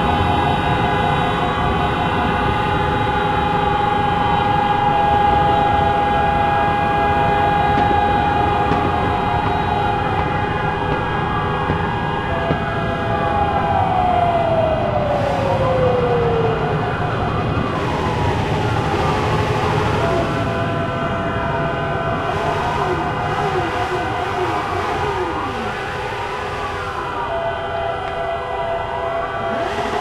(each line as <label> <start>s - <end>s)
sirens 0.0s - 30.0s
horns 19.5s - 27.0s